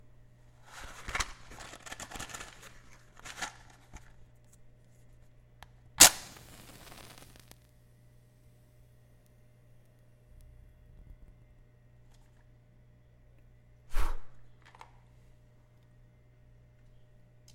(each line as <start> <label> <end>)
6.0 matchbox opening 7.6
6.0 striking the match 7.6
6.0 blowing the match out 7.7